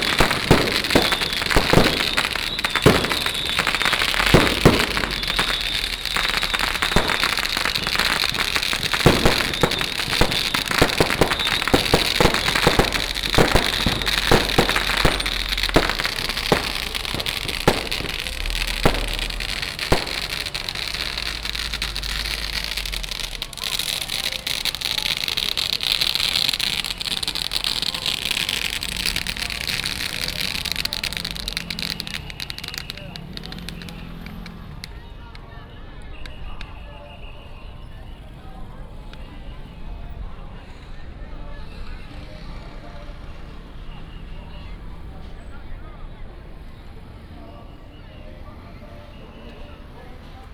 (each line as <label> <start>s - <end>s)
whistle 0.0s - 40.0s
Firecrackers 0.0s - 50.5s
fireworks 0.0s - 50.5s